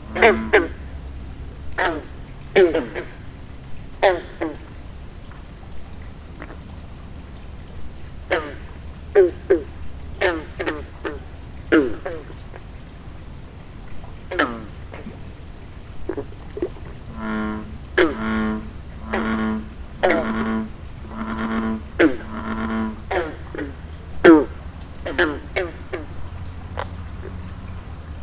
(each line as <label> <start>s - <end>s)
bullfrogs 0.0s - 28.2s